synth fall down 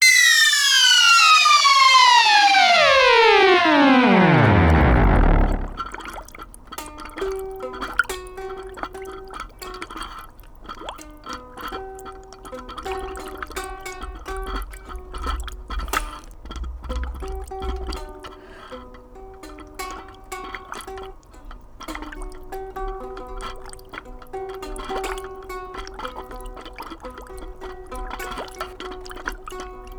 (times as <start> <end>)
0.0 5.9